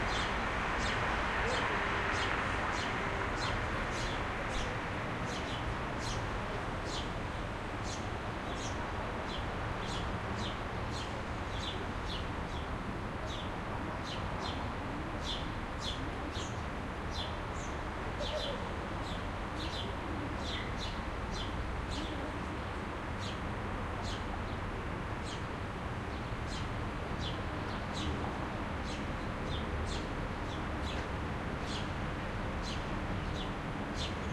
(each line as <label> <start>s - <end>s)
distant traffic 0.0s - 34.3s
birds 0.0s - 32.0s
birds 32.6s - 34.3s